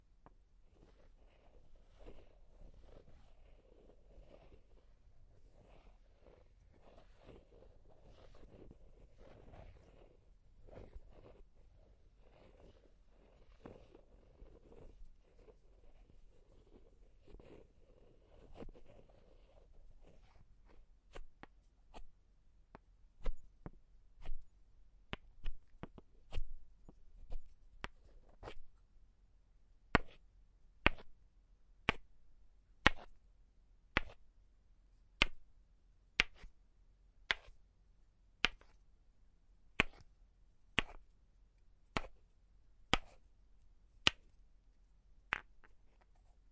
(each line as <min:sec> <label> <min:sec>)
0:00.7 wooden balls rubbing against each other 0:22.2
0:23.2 wooden balls rubbing against each other 0:23.6
0:39.8 wooden balls rubbing against each other 0:40.2
0:40.8 wooden balls rubbing against each other 0:41.1
0:41.8 wooden balls rubbing against each other 0:42.3
0:42.9 wooden balls rubbing against each other 0:44.4
0:45.2 wooden balls rubbing against each other 0:46.5